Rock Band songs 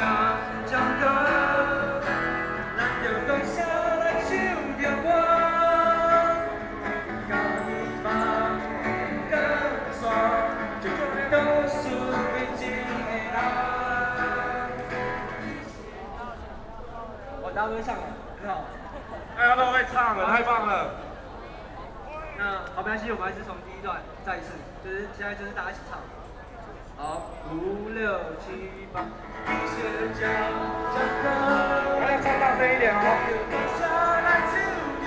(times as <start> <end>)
0.0 16.2, 29.0 35.0